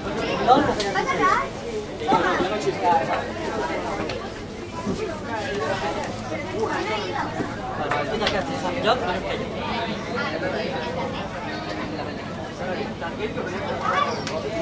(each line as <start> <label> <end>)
0.0 people waiting for the train 14.6